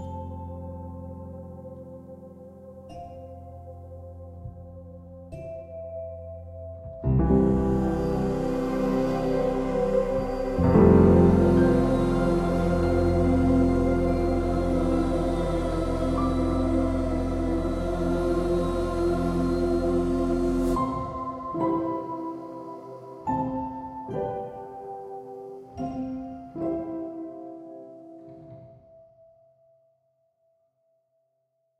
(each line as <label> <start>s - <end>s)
piano 0.0s - 29.9s
orchestra 7.1s - 24.9s